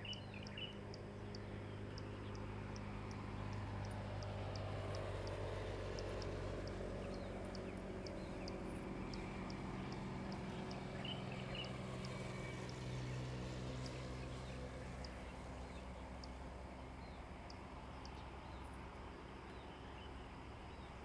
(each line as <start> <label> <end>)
0.0 Birds singing 21.0
0.0 Traffic Sound 21.0